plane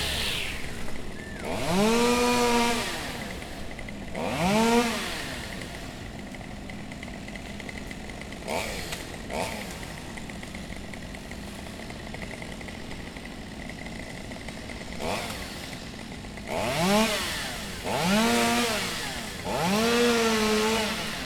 0.0s 6.0s

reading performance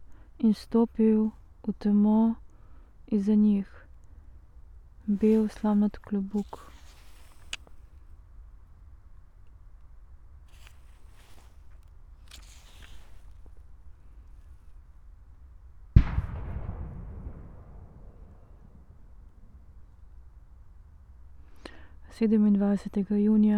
4.9s 8.2s, 10.3s 14.9s

